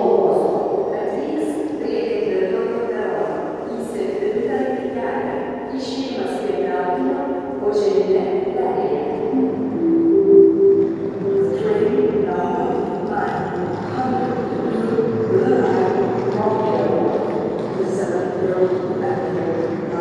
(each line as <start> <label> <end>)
8.0 train station announcements 20.0